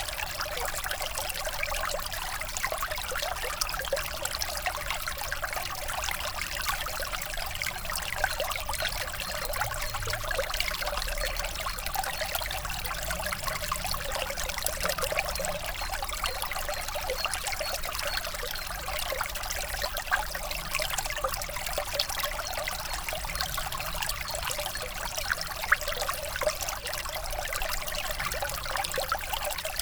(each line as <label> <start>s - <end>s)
Ornoy stream 0.0s - 29.8s